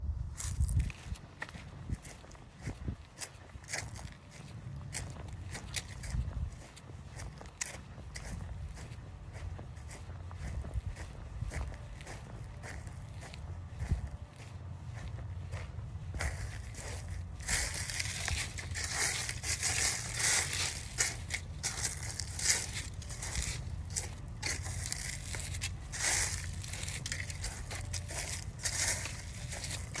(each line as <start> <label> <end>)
0.0 wind 30.0
0.2 Slow walk in leaves 30.0